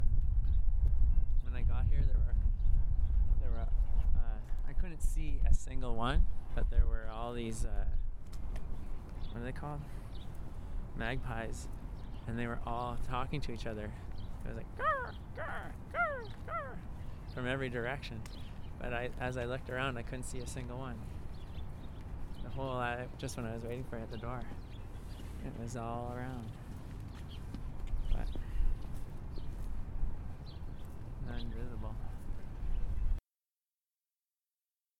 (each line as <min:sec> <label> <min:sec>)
0:14.8 magpie 0:16.9